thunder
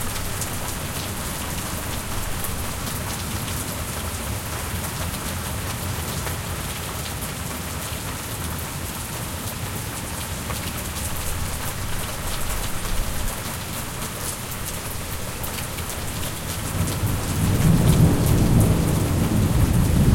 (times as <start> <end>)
16.7 20.1